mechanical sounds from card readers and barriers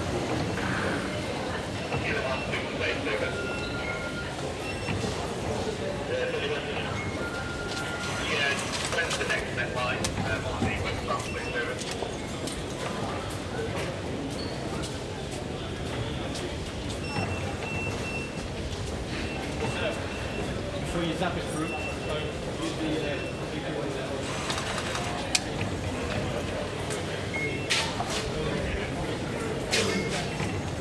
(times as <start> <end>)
24.2 25.6